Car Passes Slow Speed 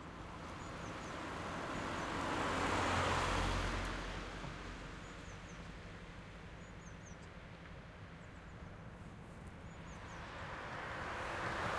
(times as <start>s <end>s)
0.6s 5.1s, 9.2s 11.7s